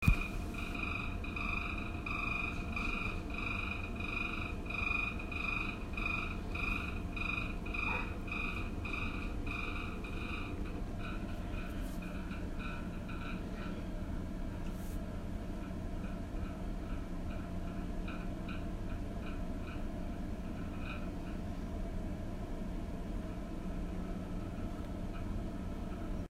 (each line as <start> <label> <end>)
0.0 Fan Rattling 26.2